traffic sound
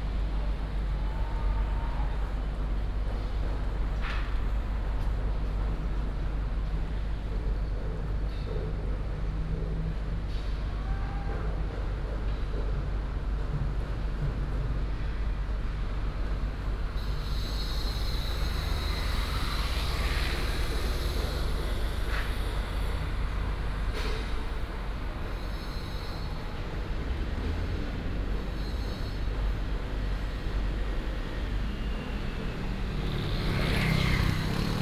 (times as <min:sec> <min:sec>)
0:15.9 0:34.8